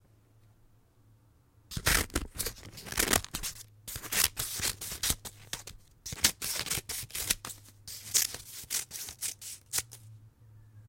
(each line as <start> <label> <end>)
1.7 metal scissors cutting through paper 10.1